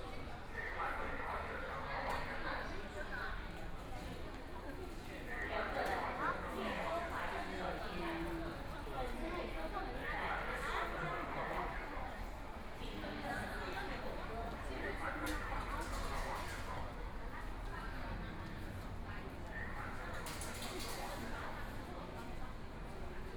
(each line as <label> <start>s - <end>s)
walking in the Station 0.0s - 23.3s